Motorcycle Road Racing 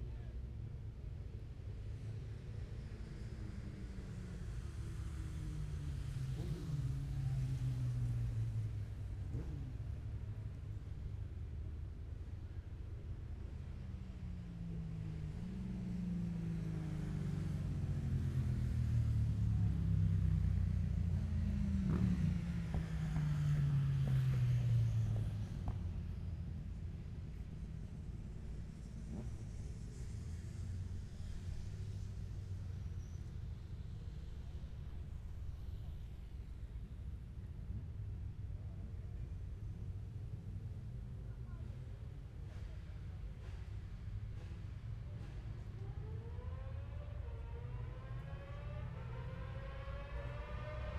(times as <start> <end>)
2.8 10.8, 13.9 26.2, 27.3 36.7, 44.1 50.9